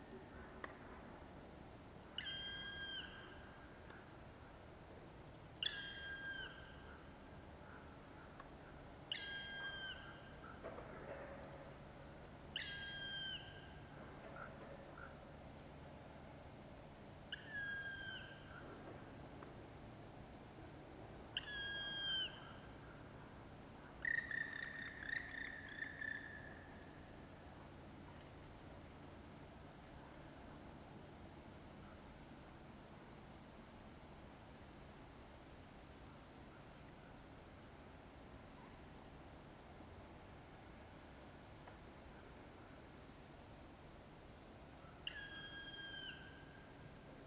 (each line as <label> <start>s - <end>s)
black woodpecker 23.9s - 26.8s
black woodpecker 44.8s - 46.7s